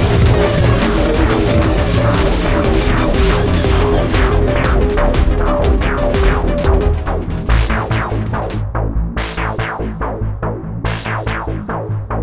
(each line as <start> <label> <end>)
0.0 music 12.2